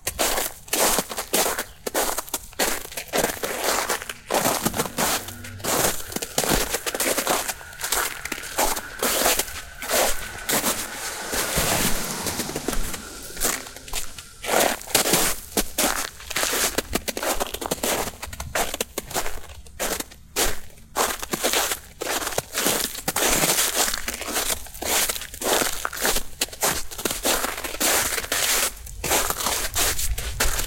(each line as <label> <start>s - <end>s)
Footsteps over ice and snow 0.1s - 21.5s